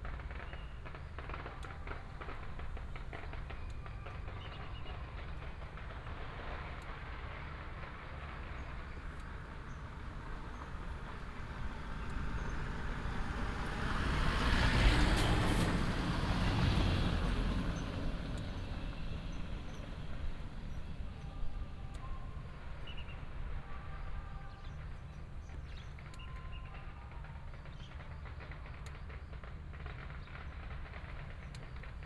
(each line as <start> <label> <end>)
0.0 Firecrackers 22.0
0.0 Traffic sound 32.0
0.0 Helicopter 32.0
22.6 Firecrackers 32.0
26.0 fireworks 32.0